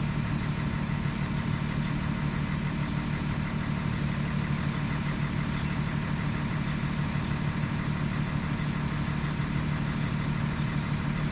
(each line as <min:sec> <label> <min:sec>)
0:00.0 diesel flatbed tow truck idles 0:11.3